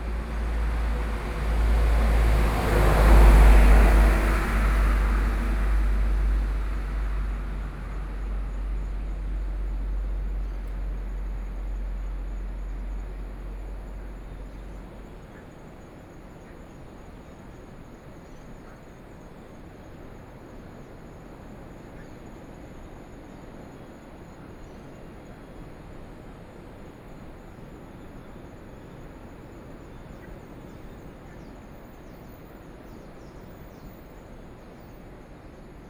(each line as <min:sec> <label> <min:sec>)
0:00.0 waves 0:10.0
0:00.0 Traffic Sound 0:15.8